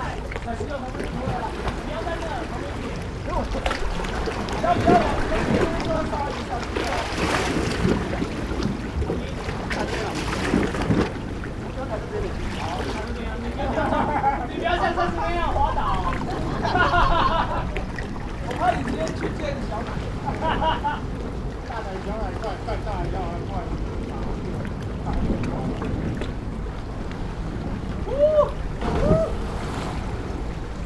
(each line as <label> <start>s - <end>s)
waves 0.0s - 30.8s
Young students 11.6s - 21.3s